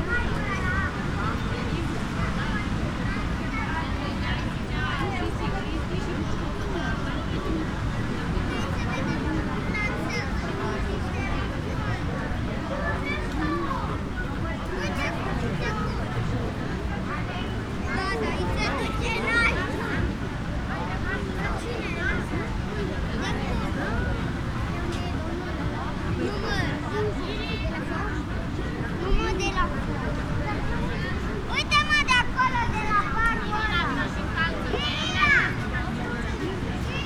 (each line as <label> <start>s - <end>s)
people 0.0s - 37.0s
the sea 0.0s - 37.0s